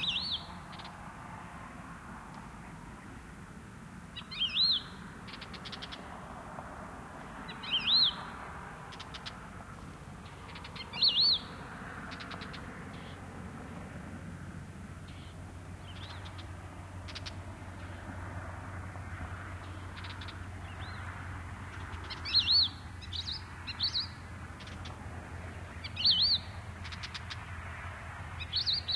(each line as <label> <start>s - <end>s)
Crested Lark 0.0s - 1.0s
Warblers 0.0s - 1.1s
car passing along a dirt trail 0.0s - 28.9s
Warblers 4.0s - 13.8s
Crested Lark 4.1s - 6.4s
Crested Lark 7.3s - 13.3s
Warblers 15.0s - 27.5s
Crested Lark 15.0s - 18.2s
Crested Lark 19.4s - 27.6s
Crested Lark 28.3s - 28.9s
Warblers 28.3s - 28.9s